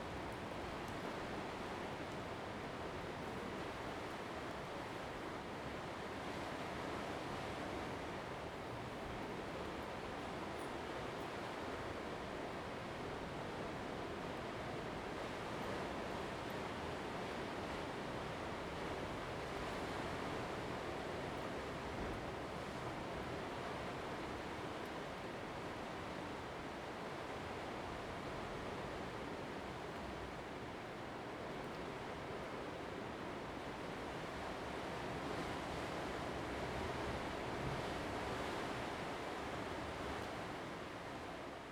31.4s waves 41.3s

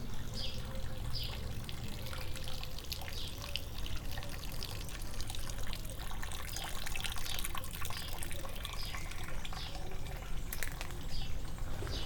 0.0s Gutter water flowing 12.0s

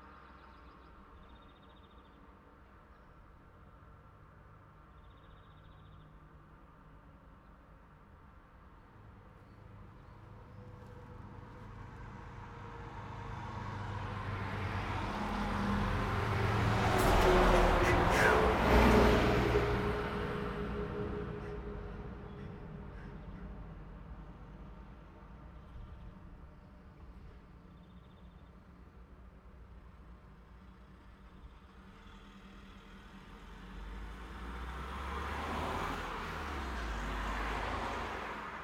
0.0s Emerging and decaying traffic sounds 38.6s
17.8s laid back bird vocalisations 18.6s

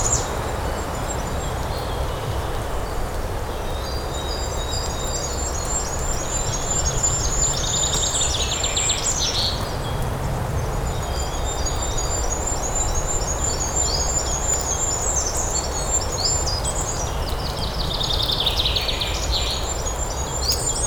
0.0s birds singing 20.8s
0.0s wind sound in the pines needles 20.8s

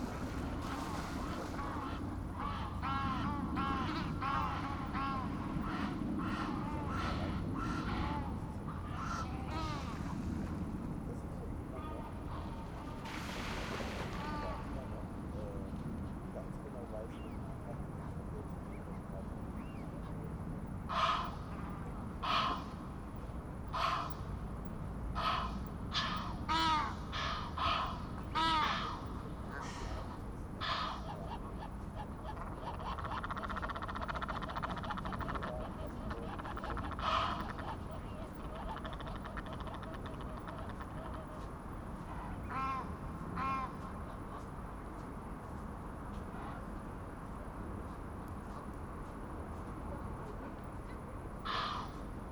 38.4s Egyptian geese getting excited about the recordist, complaining 41.4s

